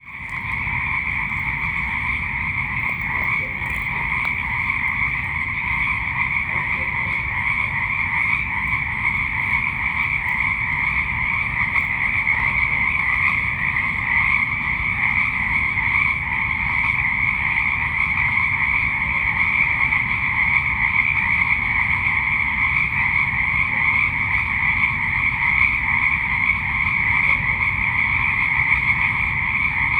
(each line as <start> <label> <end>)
0.0 BIRDS 18.4
0.0 BROOK 29.9
0.0 Frogs 29.9
0.1 Distant Dog Bark 14.6